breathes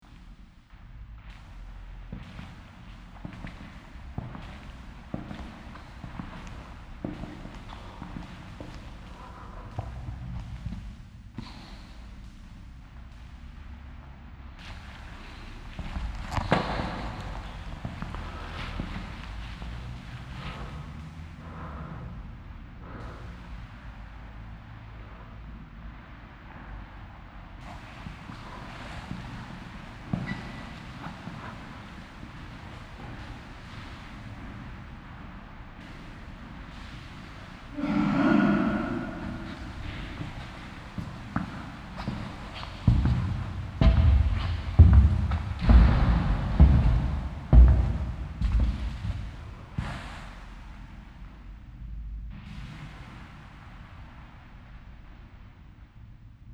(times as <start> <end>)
4.6 12.4, 35.8 44.7